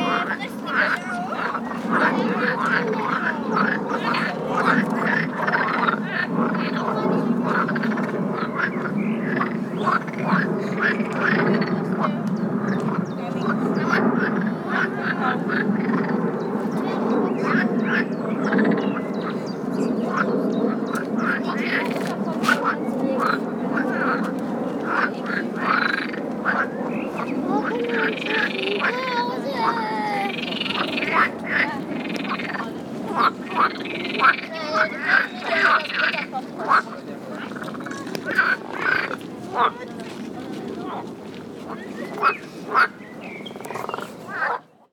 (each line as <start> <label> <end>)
0.0 quacking frogs 19.4
20.0 quacking frogs 39.9
41.7 quacking frogs 43.0
43.6 quacking frogs 44.7